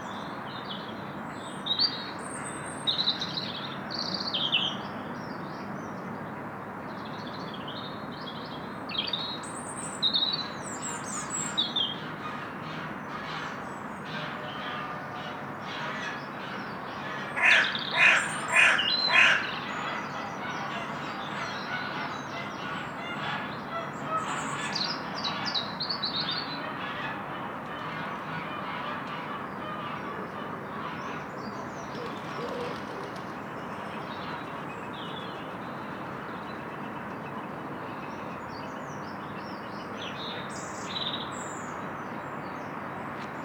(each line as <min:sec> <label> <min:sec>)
0:00.0 road noise in the background 0:43.4
0:29.4 Robins 0:37.5